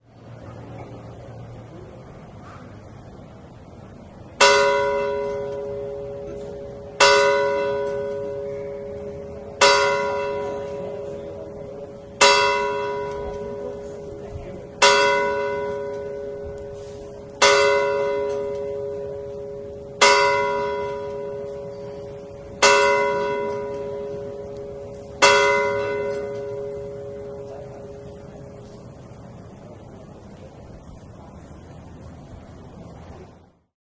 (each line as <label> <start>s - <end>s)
bells 4.4s - 29.7s